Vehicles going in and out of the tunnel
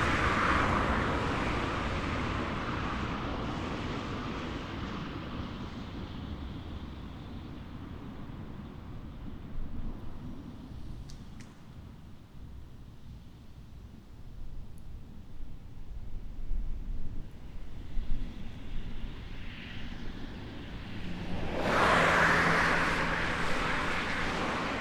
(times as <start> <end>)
0.0 6.5, 17.7 24.8